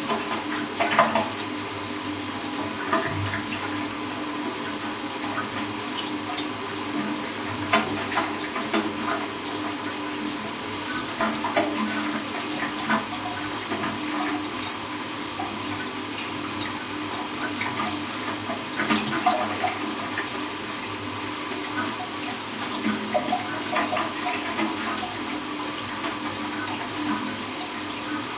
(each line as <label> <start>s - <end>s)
broken flush 0.0s - 28.3s